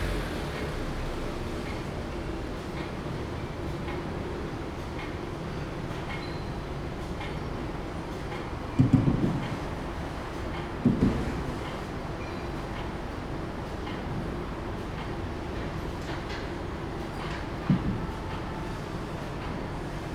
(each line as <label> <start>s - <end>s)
Traffic sound 0.0s - 3.2s
Factory machinery operation sound 0.0s - 20.1s
The train runs through 0.0s - 20.1s